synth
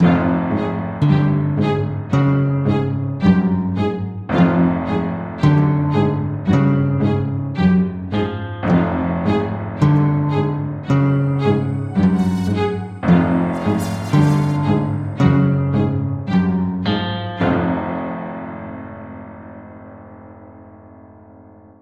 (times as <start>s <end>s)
10.3s 16.5s